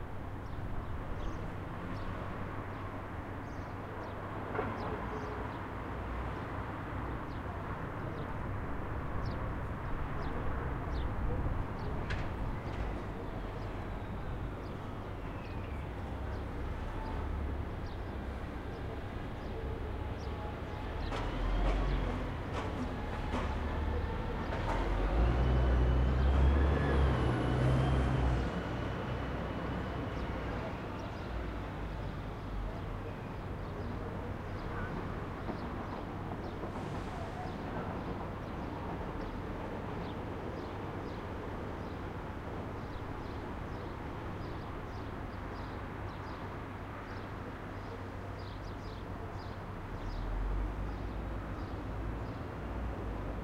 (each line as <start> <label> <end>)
0.0 traffic 53.4
0.0 train 53.4